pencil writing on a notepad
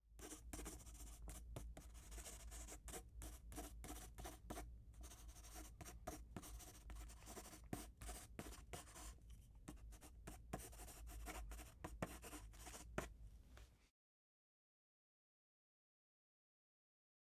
0:00.2 0:13.1

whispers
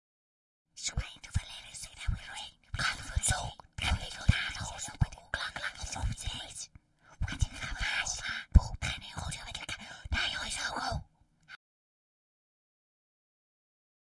0:00.8 0:11.1

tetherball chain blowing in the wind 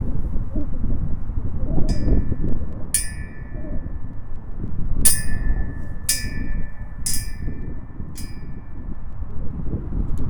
0:01.9 0:09.7

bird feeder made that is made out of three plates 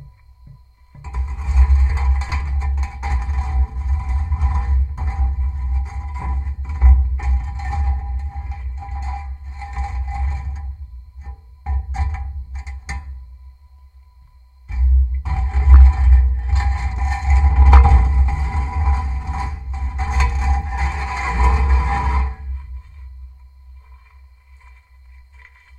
0:14.6 0:24.2

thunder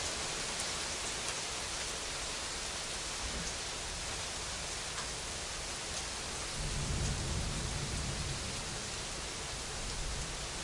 0:06.6 0:08.9

